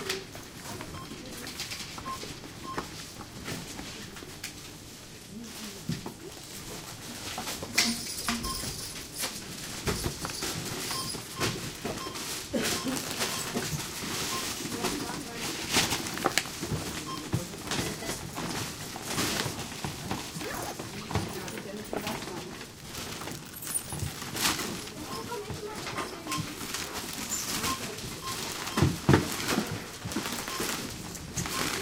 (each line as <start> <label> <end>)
2.8 Packing bags 31.8
10.9 beeping 15.4
25.0 beeping 26.6
27.6 beeping 29.0
30.4 beeping 31.8